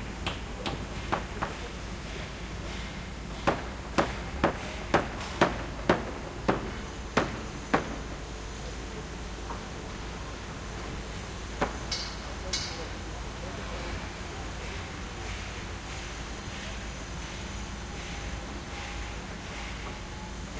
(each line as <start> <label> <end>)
0.0 workers 20.5
0.2 hammer 8.0